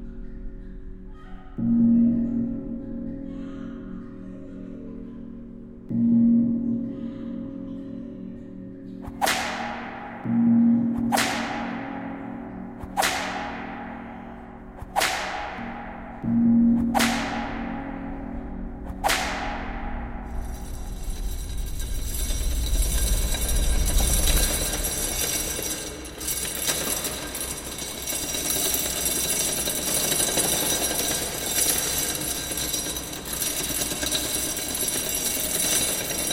gongs 0.0 - 36.3
whips 9.1 - 10.0
whips 13.0 - 13.7
whips 14.8 - 15.7
immense noise of gears and chains 20.4 - 36.3

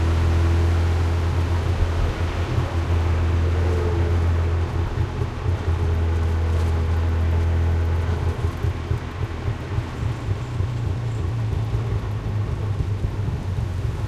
tuk tuk motorcycle taxi on board various speeds 0.0 - 14.0

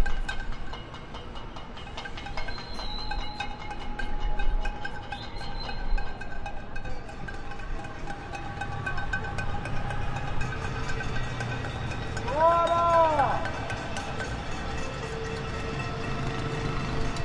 people bang pans 7.0 - 16.7
scream at the windows 12.2 - 13.6

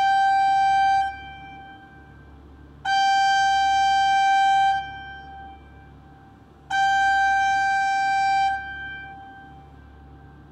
warning siren 0.0 - 10.5

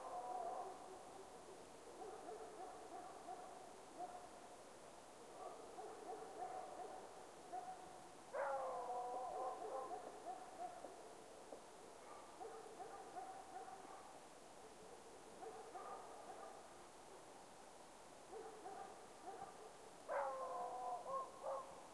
Dogs 0.0 - 4.4
Dogs 5.3 - 17.2
Dogs 18.3 - 21.9

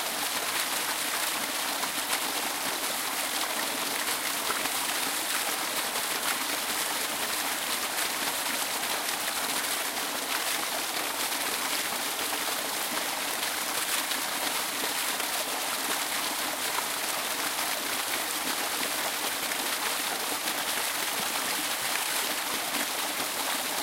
waterfall 0.0 - 23.8

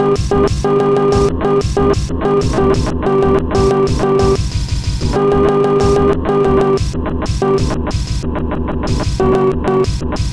Drum Loop 0.0 - 8.2
Drum Loop 8.9 - 10.3

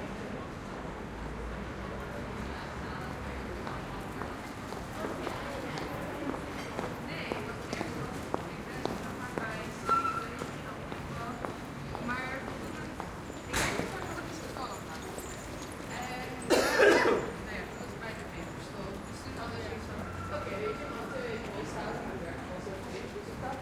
People passing by, talking 0.0 - 23.6
bicycles pass 12.2 - 16.5

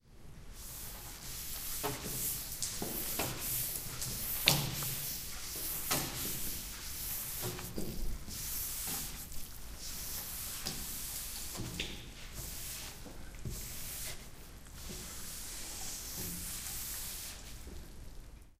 cleaning the blackboard with a sponge 0.6 - 18.2

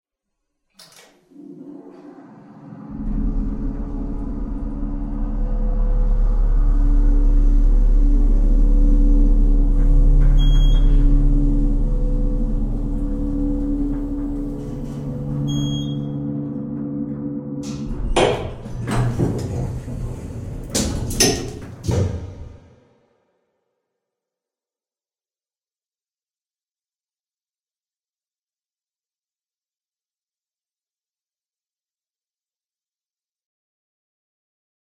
elevator sounds 0.8 - 22.7
motor 1.4 - 21.3

